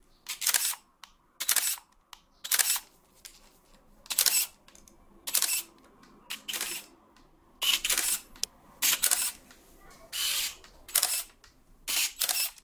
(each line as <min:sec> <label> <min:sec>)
0:00.3 Camera Flashing 0:00.8
0:01.4 Camera Flashing 0:02.9
0:04.1 Camera Flashing 0:04.6
0:05.3 Camera Flashing 0:05.7
0:06.3 Camera Flashing 0:06.9
0:07.6 Camera Flashing 0:09.4
0:10.2 Camera Flashing 0:11.3
0:11.9 Camera Flashing 0:12.6